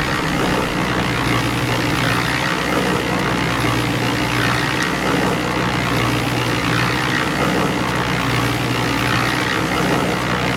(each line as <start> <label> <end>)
0.0 Concrete Mixer 10.5